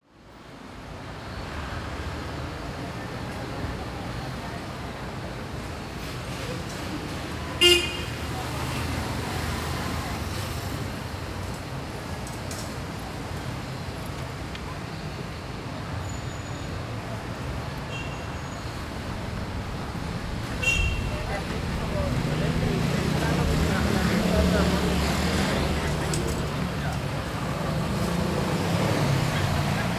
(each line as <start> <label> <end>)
16.2 people 29.9
17.3 motorcycles 29.9
18.5 vendors 29.9